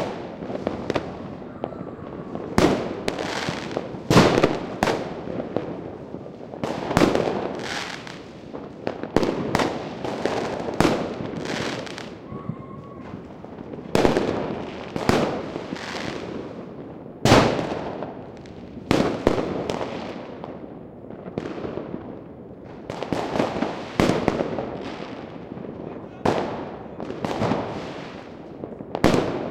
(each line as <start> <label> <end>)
0.0 fireworks 29.5